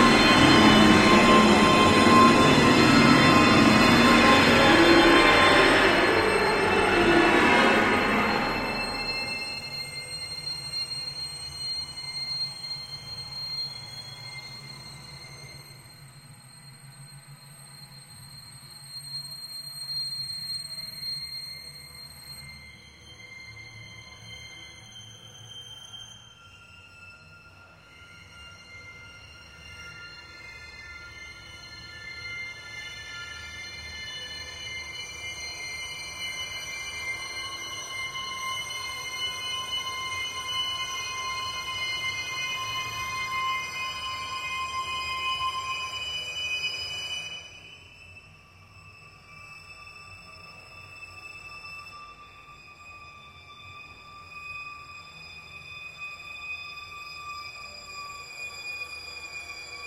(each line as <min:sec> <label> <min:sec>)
0:00.0 High string intense suspense 0:10.0